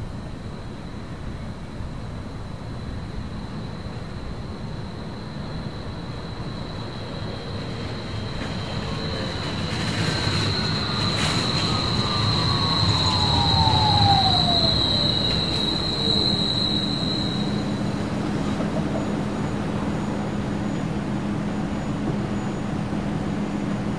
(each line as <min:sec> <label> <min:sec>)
0:00.0 Street Car 0:23.9